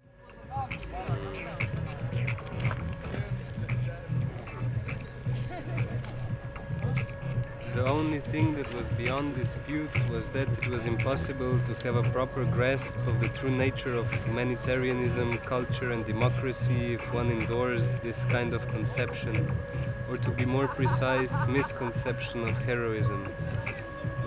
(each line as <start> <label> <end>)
0.4 improvised reading of texts against heroism 23.9